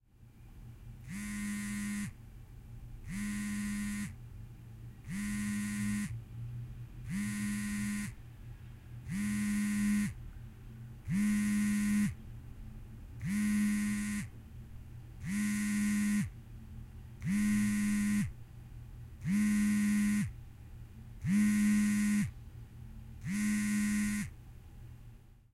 1.0s Cell Phone Vibrate 2.2s
3.0s Cell Phone Vibrate 4.2s
5.0s Cell Phone Vibrate 6.2s
7.0s Cell Phone Vibrate 8.2s
9.0s Cell Phone Vibrate 10.2s
11.1s Cell Phone Vibrate 12.2s
13.2s Cell Phone Vibrate 14.3s
15.2s Cell Phone Vibrate 16.4s
17.2s Cell Phone Vibrate 18.4s
19.2s Cell Phone Vibrate 20.4s
21.2s Cell Phone Vibrate 22.4s
23.2s Cell Phone Vibrate 24.3s

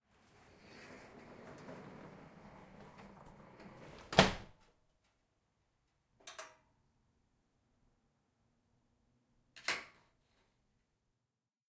0.6s rickety old garage door shut 4.6s

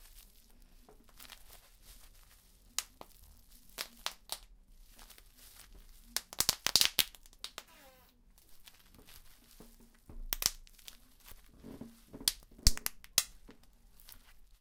0.0s squeezing bubblewrap to pop the bubbles 14.6s
7.6s floorboard creaking noise 8.2s
11.3s floorboard creaking noise 12.7s

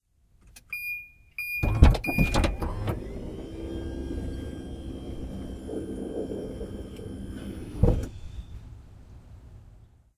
1.6s autmatic minivan tailgate opening 8.6s

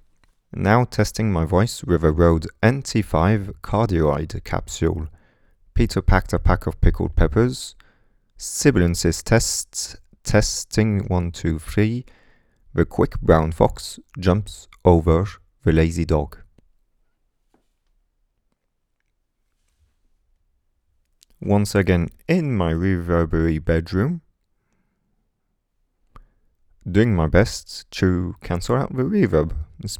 0.5s speech 5.2s
5.8s speech 7.8s
8.4s speech 12.1s
12.7s speech 16.5s
21.3s speech 24.3s
26.8s speech 29.9s

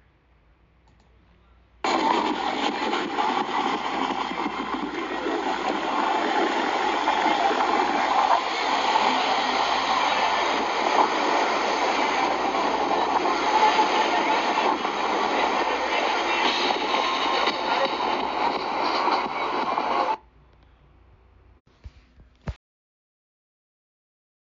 0.9s people 20.2s
1.9s waves 18.4s

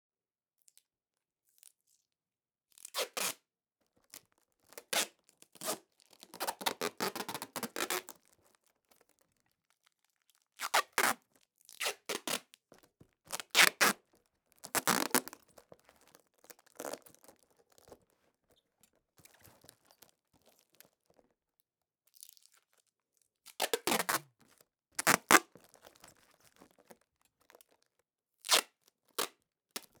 5.0s Manipulating the duct tape 8.1s
13.3s Manipulating the duct tape 14.0s
14.6s Manipulating the duct tape 15.4s
23.7s Manipulating the duct tape 24.2s
25.0s Manipulating the duct tape 25.5s

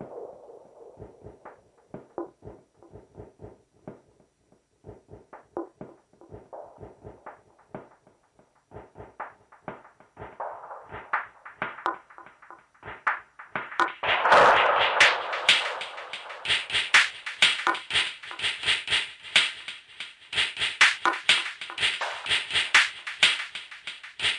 4.9s Drum Loop 8.0s
8.7s Drum Loop 24.3s

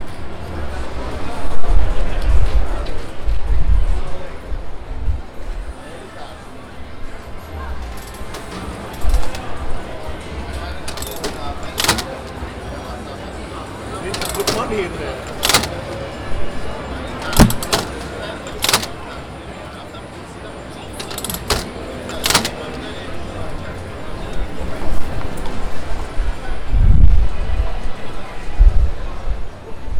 10.7s slot machine 12.7s
14.0s slot machine 16.3s
17.1s slot machine 19.1s
21.0s slot machine 23.0s

